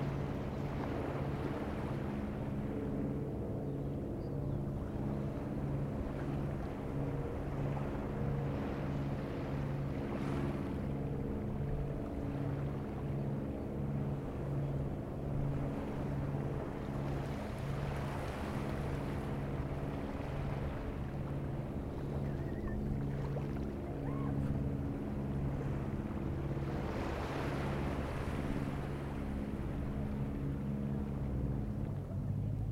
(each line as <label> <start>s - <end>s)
fishing boat 0.0s - 32.7s
sea 0.0s - 32.7s